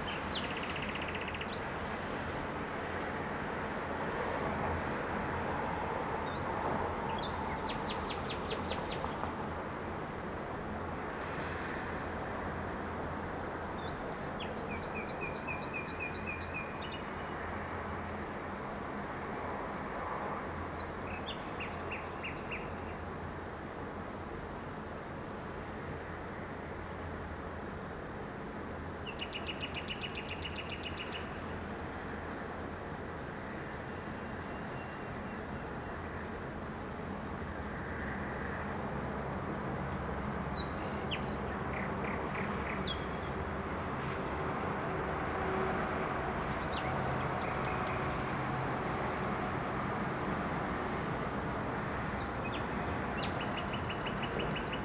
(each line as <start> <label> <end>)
0.0 traffic noise 54.8